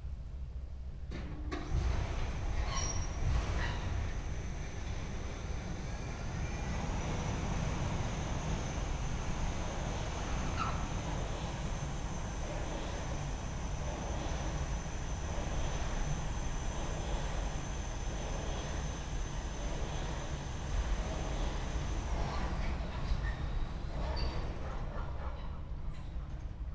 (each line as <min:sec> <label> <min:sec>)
0:01.1 overhead crane moving rails 0:26.6